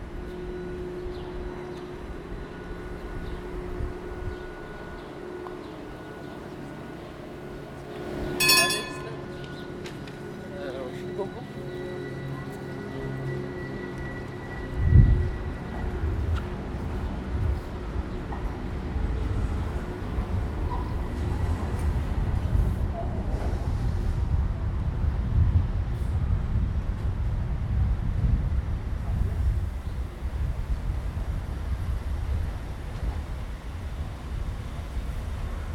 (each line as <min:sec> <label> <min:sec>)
0:00.0 construction site noise 0:24.1